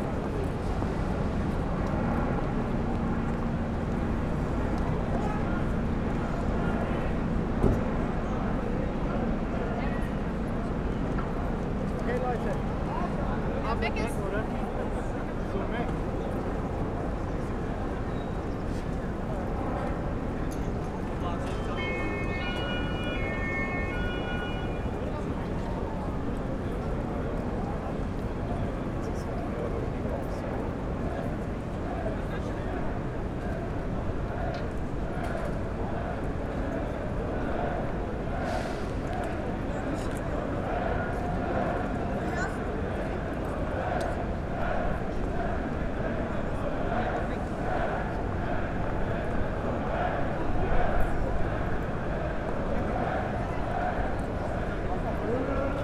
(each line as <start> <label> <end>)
0.0 people leaving and entering the subway station 55.8
0.0 police helicopters 55.8
0.1 police cars, vans, trucks and water guns 13.6
14.4 police cars, vans, trucks and water guns 44.5
21.4 police sirens 26.2
32.8 chanting demonstrators 55.5